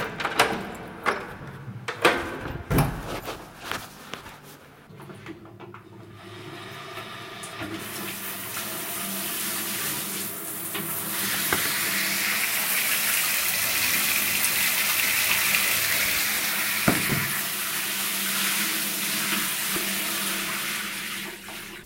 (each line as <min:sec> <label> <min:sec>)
0:02.0 door 0:03.2
0:06.1 shower 0:21.8
0:16.8 door 0:17.3